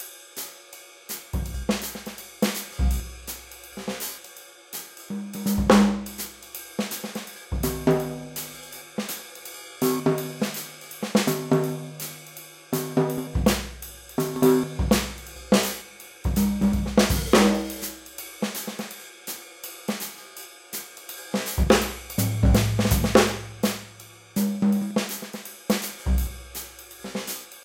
jazzbeat 0:01.4 - 0:04.2
jazzbeat 0:05.1 - 0:06.5
jazzbeat 0:07.1 - 0:09.1
jazzbeat 0:09.8 - 0:18.1
jazzbeat 0:21.4 - 0:27.4

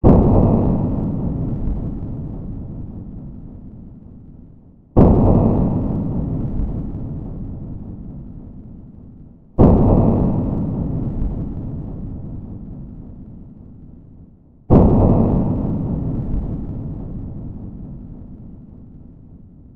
Deep cinematic thuds 0:00.0 - 0:03.8
Deep cinematic thuds 0:05.0 - 0:09.0
Deep cinematic thuds 0:09.6 - 0:13.3
Deep cinematic thuds 0:14.7 - 0:18.8

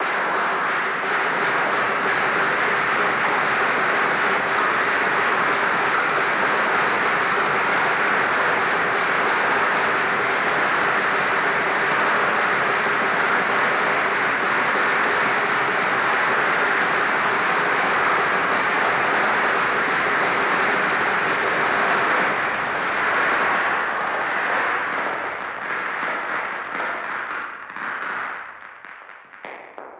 Snare Drum 0:00.0 - 0:23.4

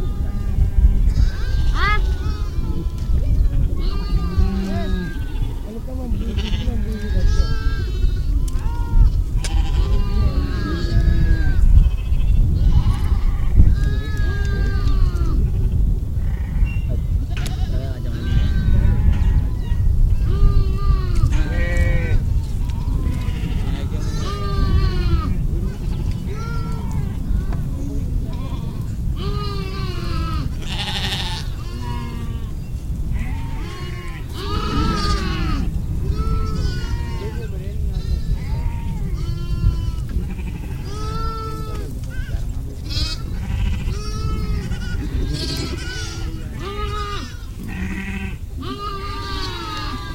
goats 0:00.0 - 0:50.1

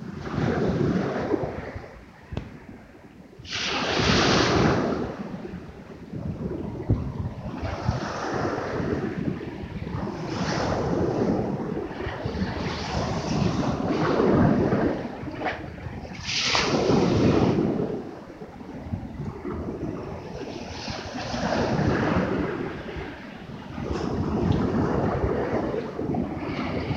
Small waves on shingle beach 0:03.4 - 0:05.7
Small waves on shingle beach 0:16.1 - 0:18.0

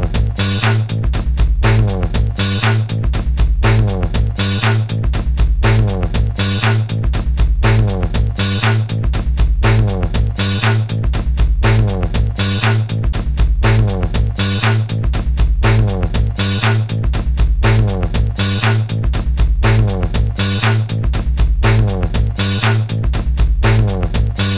bass 0:00.0 - 0:24.5
drums 0:00.0 - 0:24.5

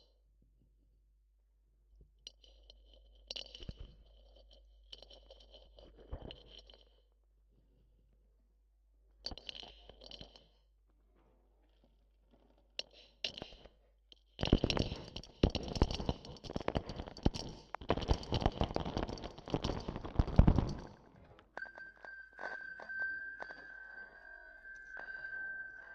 stones 0:02.3 - 0:07.0
stones 0:09.3 - 0:10.5
stones 0:14.4 - 0:25.9

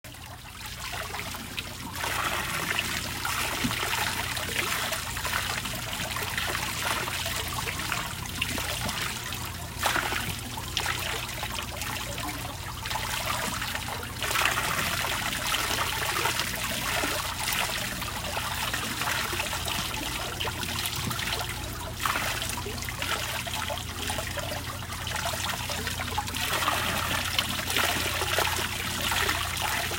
water flowing from a a watermill wheel as it revolves 0:00.1 - 0:29.9

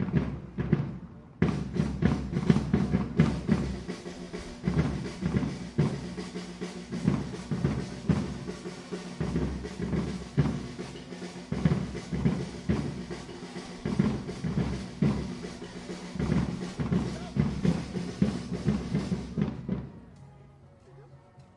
start of a drumming band 0:00.0 - 0:20.7

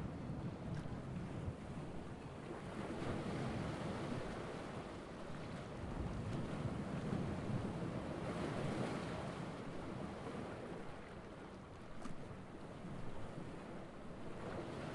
waves 0:00.0 - 0:14.9

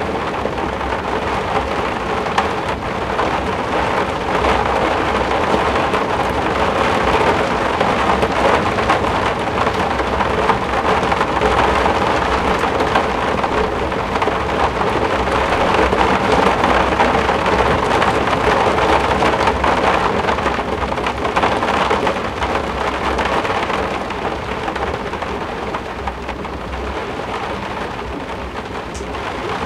roofwindow during a bit of a rain storm 0:00.0 - 0:29.6

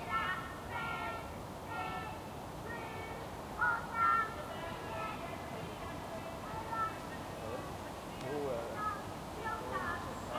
children playing 0:00.0 - 0:07.6
car and pedestrian traffic 0:00.0 - 0:10.3
distant city noises 0:00.0 - 0:10.3
trees 0:00.0 - 0:10.3
birds 0:08.2 - 0:10.3

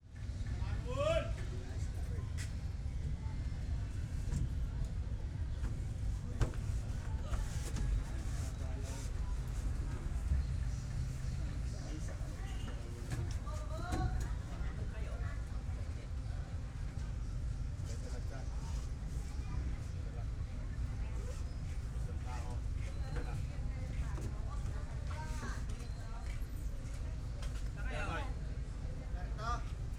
voices of the passengers talking with each others 0:00.0 - 0:29.9
traffic 0:00.1 - 0:21.0
noise from the vehicle 0:01.4 - 0:14.6

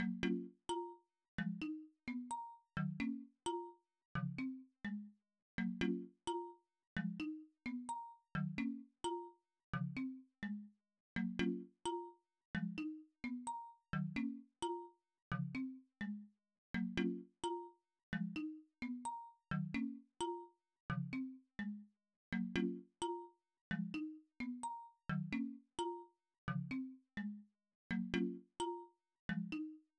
marimbas 0:05.6 - 0:06.5
marimbas 0:07.2 - 0:09.3
marimbas 0:16.8 - 0:17.7
marimbas 0:27.9 - 0:29.7

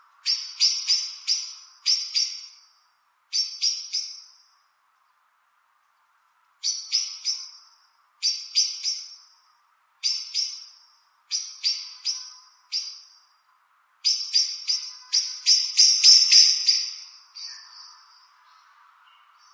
call of a blackbird 0:00.0 - 0:02.7
call of a blackbird 0:03.3 - 0:04.5
call of a blackbird 0:06.6 - 0:09.4
call of a blackbird 0:10.0 - 0:13.3
call of a blackbird 0:14.0 - 0:19.5

